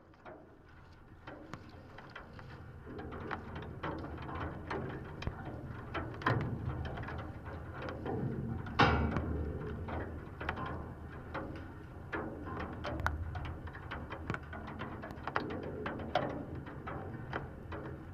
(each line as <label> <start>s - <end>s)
metallic bridge 6.5s - 12.4s